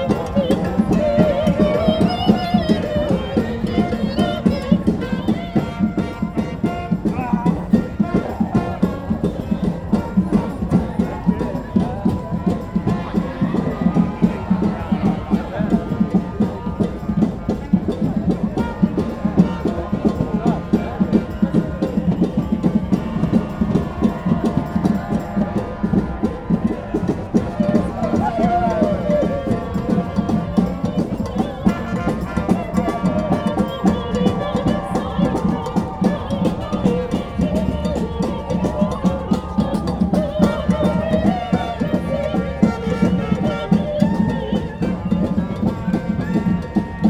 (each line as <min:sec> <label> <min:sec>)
0:00.0 band 0:47.0
0:00.0 opera singers 0:47.0